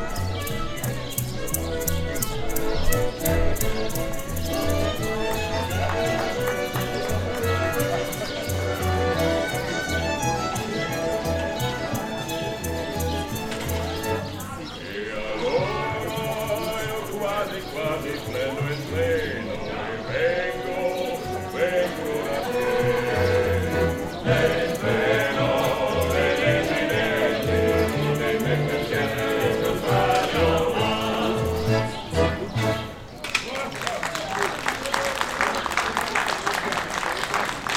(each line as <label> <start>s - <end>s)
horse carriage 0.0s - 14.8s
city tour lecture 0.0s - 37.7s
people 0.0s - 37.7s
street music 0.0s - 37.7s
horse carriage 20.8s - 31.3s